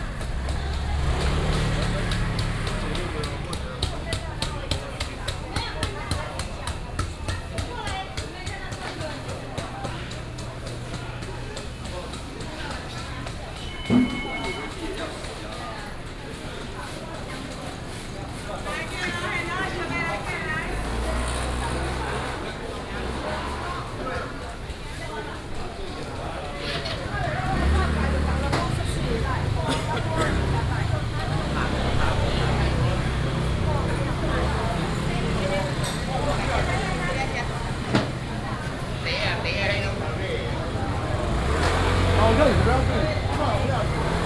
Traffic Sound 0:00.0 - 0:44.2
Walking in the traditional market 0:00.0 - 0:44.2

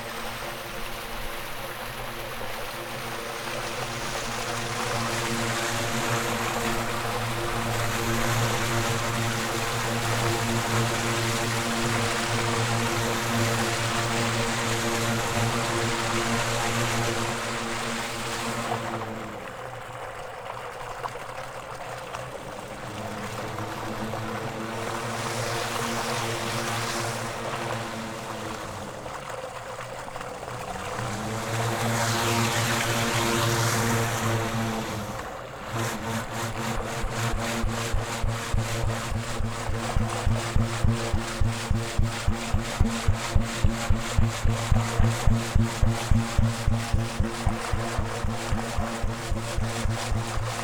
waterstream 0:00.0 - 0:50.6

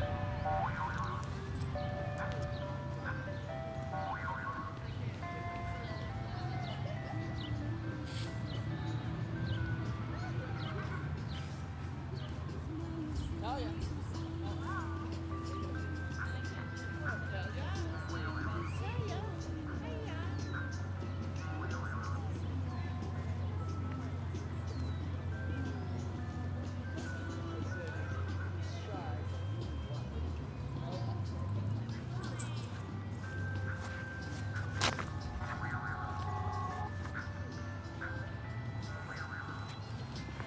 Ice cream truck 0:00.0 - 0:40.4
walking 0:10.6 - 0:40.4

